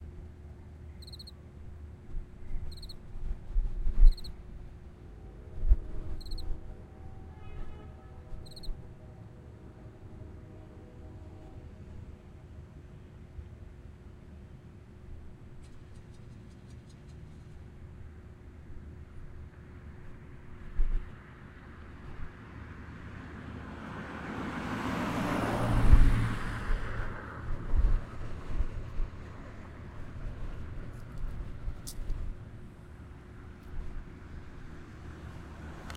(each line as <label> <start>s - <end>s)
traffic 0.0s - 35.9s
cricket in the bush 0.9s - 1.4s
cricket in the bush 2.6s - 3.0s
cricket in the bush 4.0s - 4.4s
cricket in the bush 6.2s - 6.6s
cricket in the bush 8.4s - 8.8s